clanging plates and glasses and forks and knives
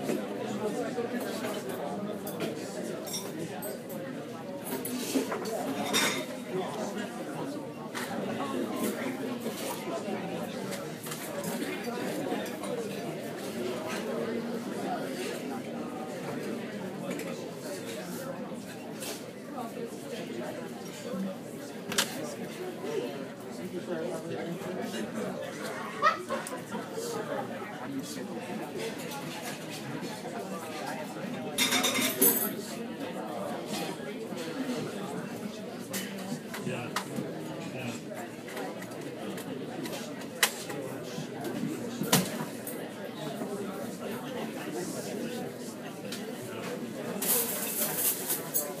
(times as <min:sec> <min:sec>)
0:03.0 0:04.0, 0:04.7 0:06.4, 0:31.6 0:32.6, 0:47.2 0:48.8